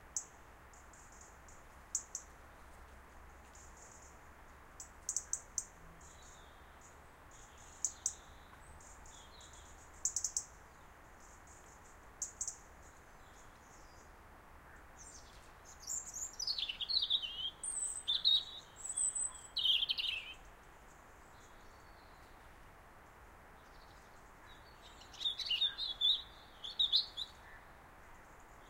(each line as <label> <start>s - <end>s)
Robin making different noises and singing a little tune 4.8s - 10.6s
Robin making different noises and singing a little tune 15.0s - 22.0s
Robin making different noises and singing a little tune 24.0s - 27.6s